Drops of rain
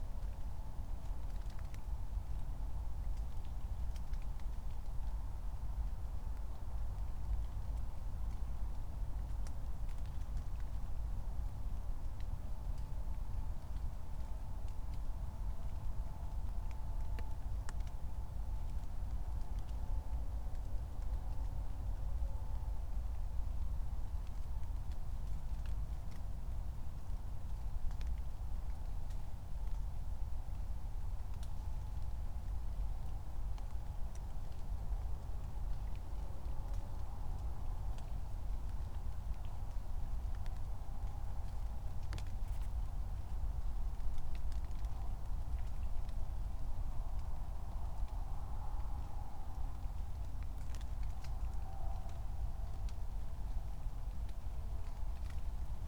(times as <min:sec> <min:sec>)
0:24.0 0:55.8